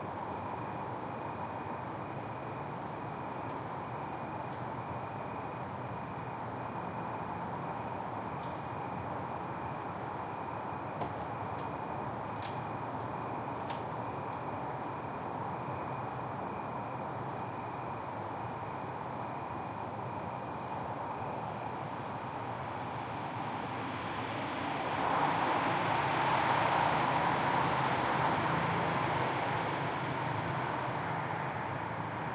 Crickets 0:00.0 - 0:32.3
cars 0:22.4 - 0:32.3

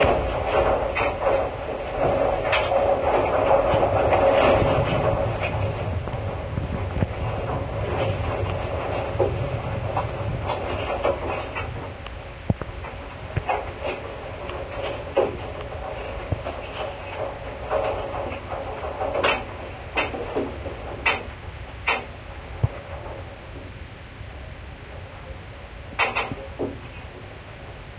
scaffolding 0:00.0 - 0:27.9

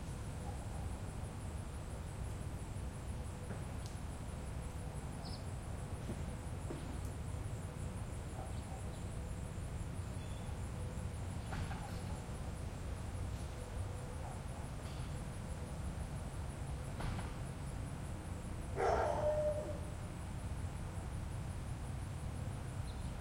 crickets 0:00.0 - 0:23.2
birds 0:05.2 - 0:05.5
owls 0:18.8 - 0:20.0
birds 0:22.8 - 0:23.2

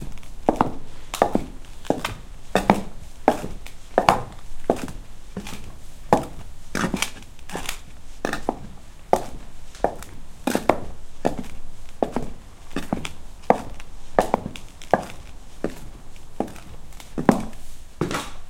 walking with my wooden shoes on a concrete road 0:00.0 - 0:18.4

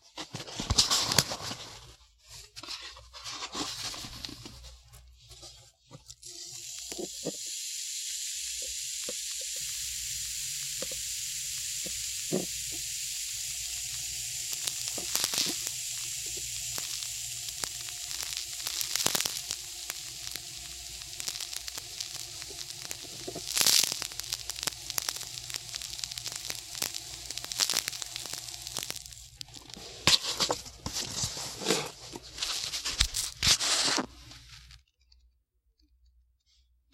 soft sand pour 0:03.1 - 0:34.7
sand being moved around with fingers on a hard surface 0:21.1 - 0:34.7

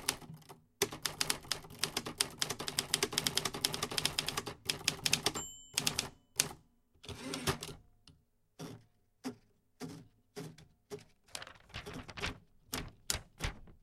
loading a typewriter with paper 0:09.8 - 0:13.8

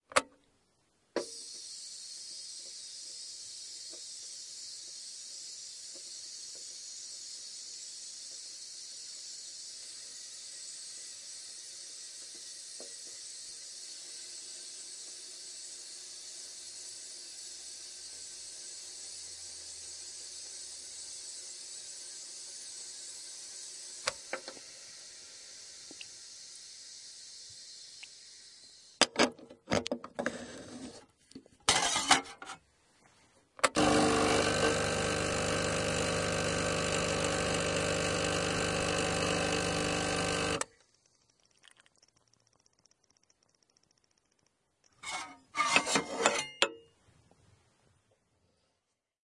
Coffeemachine 0:01.3 - 0:26.3
boiling 0:01.3 - 0:28.9
Coffeemachine 0:33.6 - 0:43.3
boiling 0:33.8 - 0:40.6
boiling 0:41.2 - 0:43.8

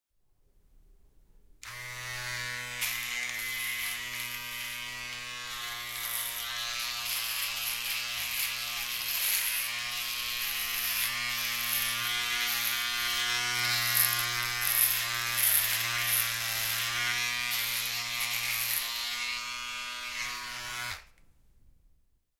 shaver 0:01.6 - 0:21.2

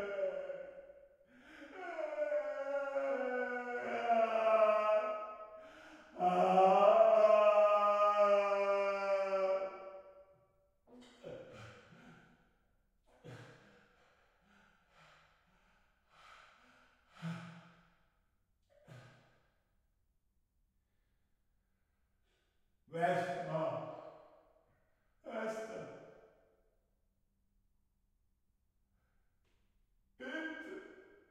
men crying in pain 0:00.0 - 0:00.8
men crying in pain 0:01.4 - 0:05.3
men crying in pain 0:06.0 - 0:09.8

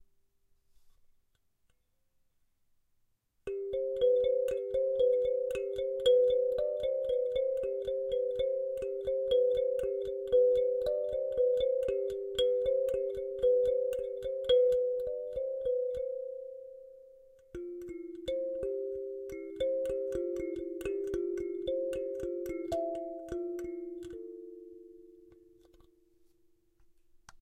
Kalimba melody 0:03.5 - 0:25.7

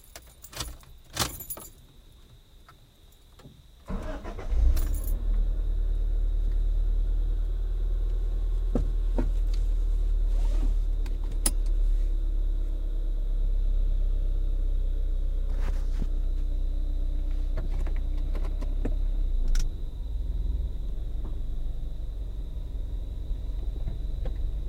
keys 0:00.0 - 0:01.8
crickets 0:00.0 - 0:24.6
driving away 0:03.9 - 0:24.6

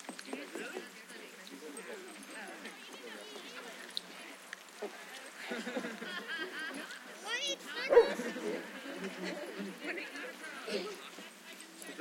people 0:00.0 - 0:12.0
barking 0:07.9 - 0:08.4

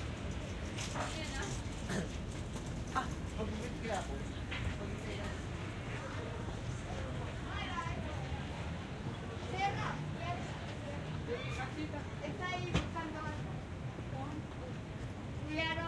street noise 0:00.0 - 0:15.8

